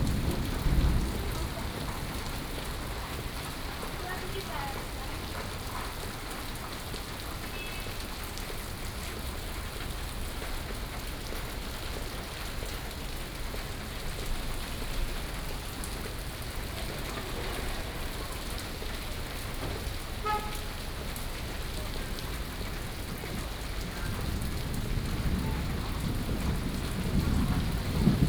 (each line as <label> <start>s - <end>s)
Thunderstorm 0.0s - 5.7s
Traffic Sound 15.0s - 28.2s
Thunderstorm 21.5s - 28.2s